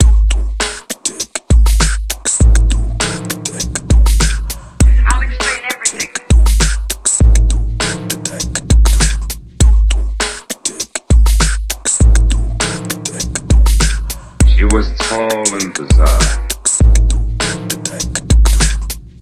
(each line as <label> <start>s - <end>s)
Minimal beats 3.8s - 9.0s
voice sample 4.8s - 6.5s
Minimal beats 12.0s - 17.4s
voice sample 14.4s - 16.6s